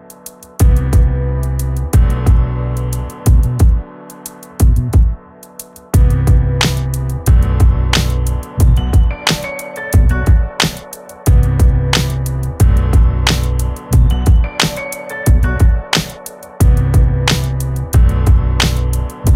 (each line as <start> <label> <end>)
0.0 piano 19.3
0.6 bass 3.9
4.6 bass 5.2
6.0 bass 16.0
6.0 drum 19.3
16.6 bass 19.3